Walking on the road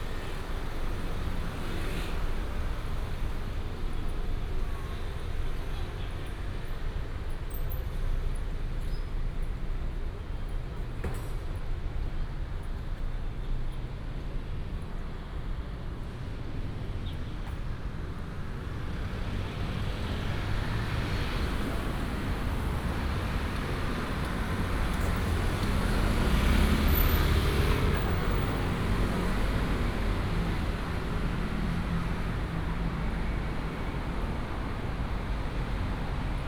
0:17.3 0:36.4

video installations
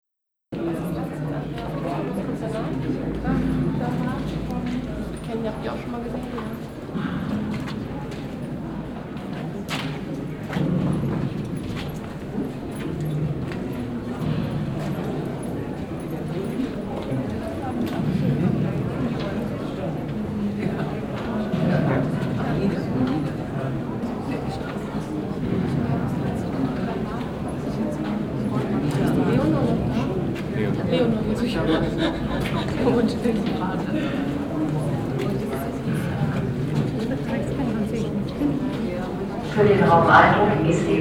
0:39.5 0:41.0

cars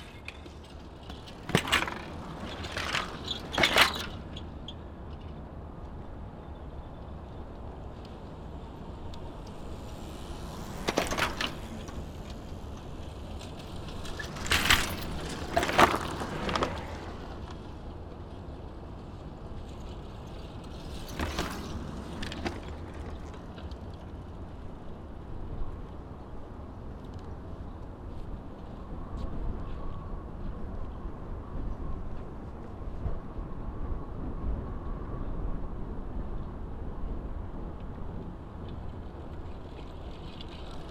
0:00.0 0:30.0

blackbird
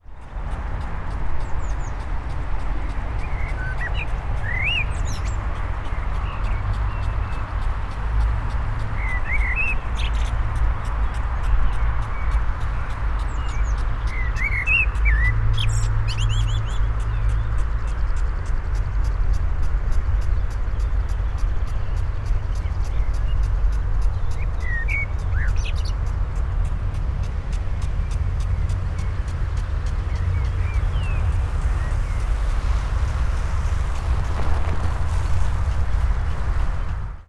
0:08.9 0:10.3, 0:13.2 0:18.0, 0:20.3 0:32.4

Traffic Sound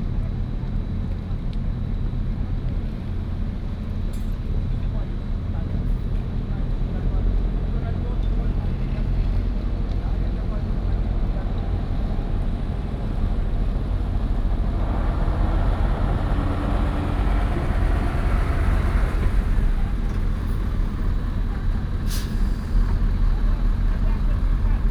0:09.0 0:24.9

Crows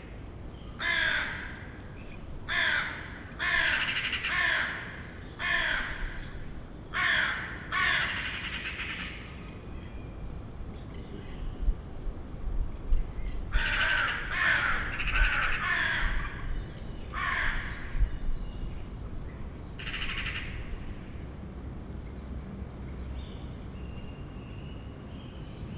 0:00.8 0:01.7, 0:02.5 0:06.2, 0:07.0 0:09.2, 0:13.6 0:16.5, 0:17.2 0:18.0, 0:19.8 0:20.7

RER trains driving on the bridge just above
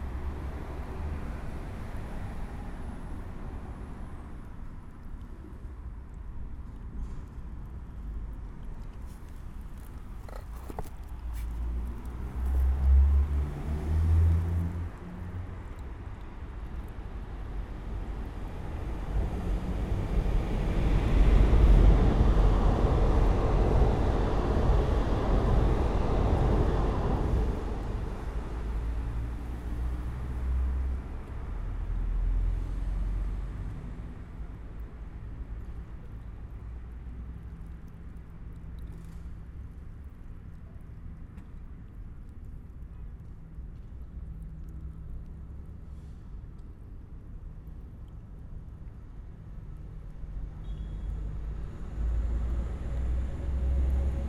0:18.0 0:30.6

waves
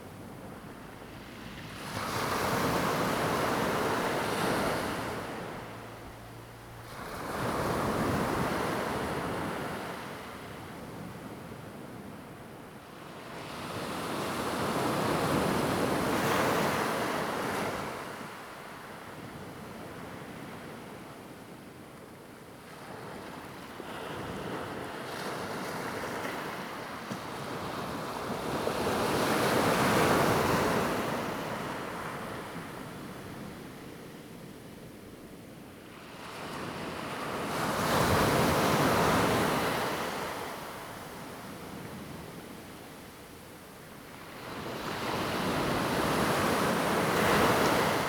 0:00.0 0:10.6, 0:35.8 0:48.0

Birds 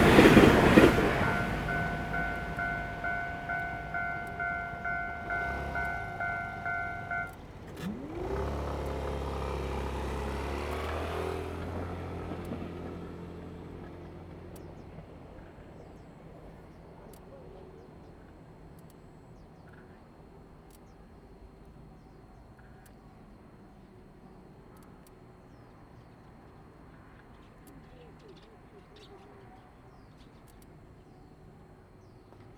0:00.0 0:07.4

